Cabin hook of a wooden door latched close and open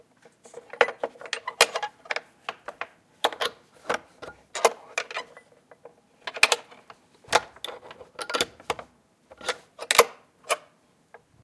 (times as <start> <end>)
7.3 10.7